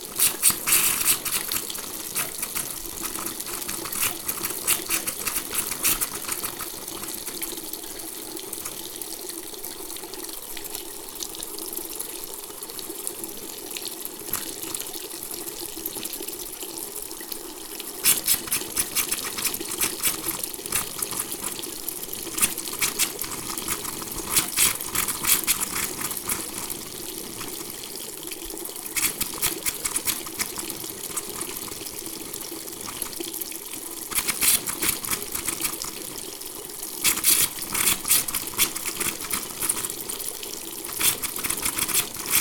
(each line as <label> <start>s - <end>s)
hissing faucet 0.0s - 8.8s
hissing faucet 14.3s - 14.8s
hissing faucet 18.0s - 28.0s
hissing faucet 28.7s - 42.4s